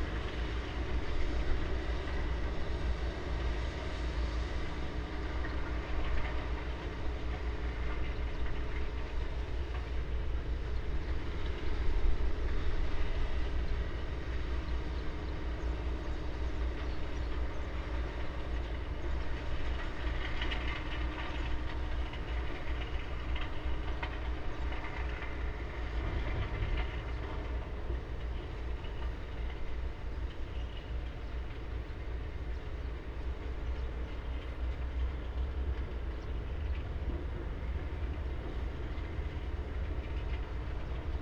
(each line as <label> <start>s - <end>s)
hot asphalt batching plant 0.0s - 41.2s